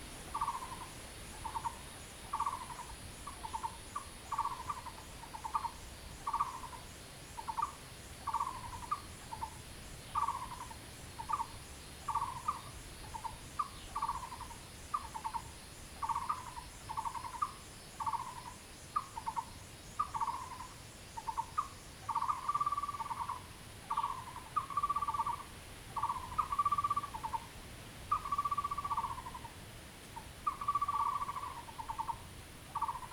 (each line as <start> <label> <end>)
0.0 Frogs sound 33.1
16.0 Bird calls 27.5
28.1 Bird calls 29.6
30.2 Bird calls 33.1